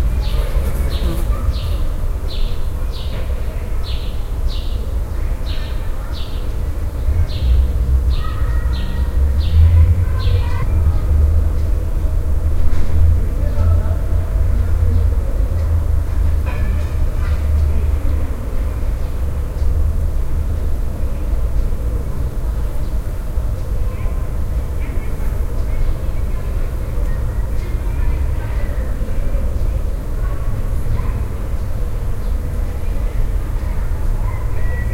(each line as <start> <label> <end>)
0.0 ambient noise of the city 34.9
0.0 playing children 34.9